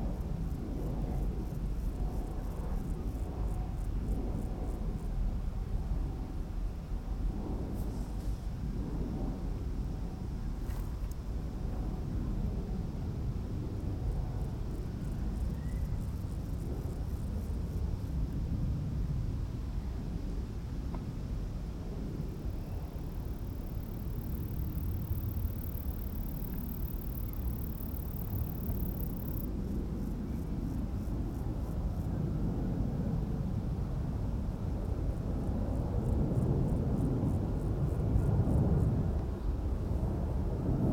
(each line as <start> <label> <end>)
0.0 windy 40.9
22.0 Air traffic noise 40.8